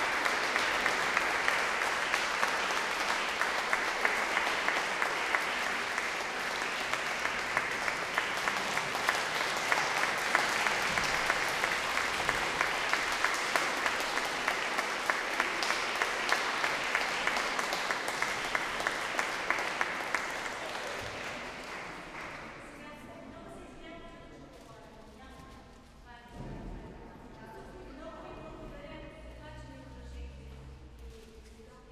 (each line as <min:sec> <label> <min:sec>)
0:00.0 applause 0:23.1